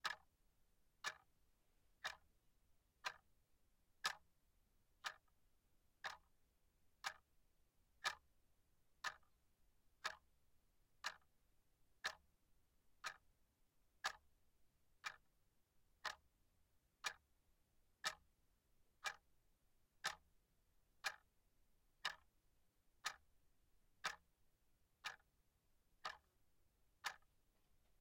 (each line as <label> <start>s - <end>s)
plastic desk clock ticking away 0.0s - 0.3s
plastic desk clock ticking away 1.0s - 1.3s
plastic desk clock ticking away 2.0s - 2.3s
plastic desk clock ticking away 3.0s - 3.2s
plastic desk clock ticking away 4.0s - 4.2s
plastic desk clock ticking away 5.0s - 5.3s
plastic desk clock ticking away 6.0s - 6.3s
plastic desk clock ticking away 7.0s - 7.2s
plastic desk clock ticking away 8.0s - 8.2s
plastic desk clock ticking away 9.0s - 9.3s
plastic desk clock ticking away 10.0s - 10.2s
plastic desk clock ticking away 11.0s - 11.3s
plastic desk clock ticking away 12.0s - 12.2s
plastic desk clock ticking away 13.0s - 13.2s
plastic desk clock ticking away 14.0s - 14.2s
plastic desk clock ticking away 15.0s - 15.3s
plastic desk clock ticking away 16.0s - 16.3s
plastic desk clock ticking away 17.0s - 17.2s
plastic desk clock ticking away 18.0s - 18.3s
plastic desk clock ticking away 19.0s - 19.2s
plastic desk clock ticking away 20.0s - 20.2s
plastic desk clock ticking away 21.0s - 21.3s
plastic desk clock ticking away 22.0s - 22.3s
plastic desk clock ticking away 23.0s - 23.3s
plastic desk clock ticking away 24.0s - 24.2s
plastic desk clock ticking away 25.0s - 25.3s
plastic desk clock ticking away 26.0s - 26.3s
plastic desk clock ticking away 27.0s - 27.3s